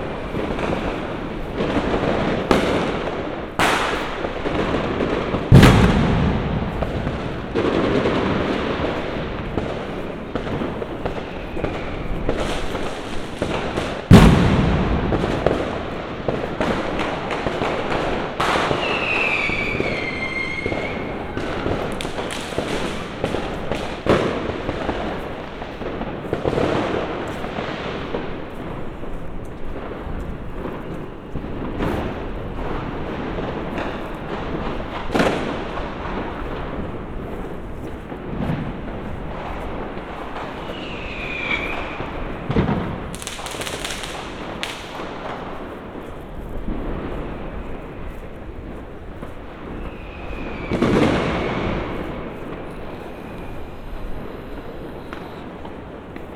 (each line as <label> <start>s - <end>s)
Street fireworks 0.0s - 56.3s